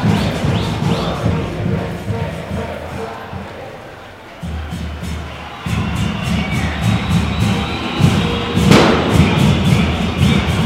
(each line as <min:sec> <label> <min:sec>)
0:00.0 football's chants 0:10.6
0:00.0 horns 0:10.6
0:08.7 Explosions 0:09.5